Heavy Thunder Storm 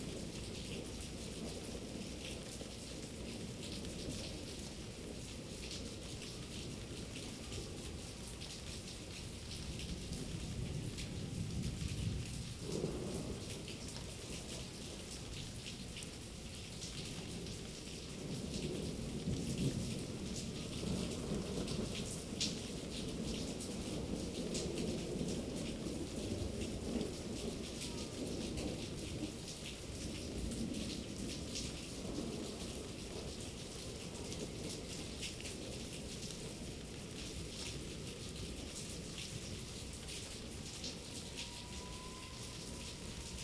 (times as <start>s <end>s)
9.6s 15.1s